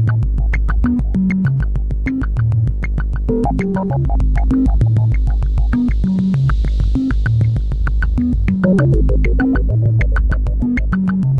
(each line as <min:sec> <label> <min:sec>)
0:03.2 noise generator 0:10.7
0:03.3 oscillators 0:10.6